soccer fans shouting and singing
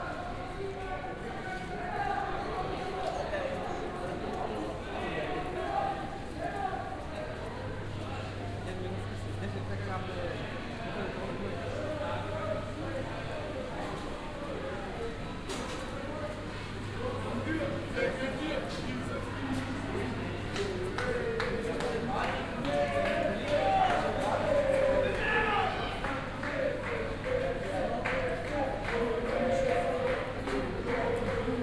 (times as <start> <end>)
20.0 31.6